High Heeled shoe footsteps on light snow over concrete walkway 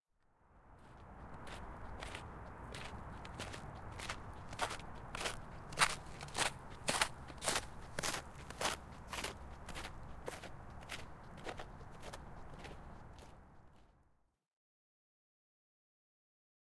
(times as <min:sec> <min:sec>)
0:00.7 0:14.0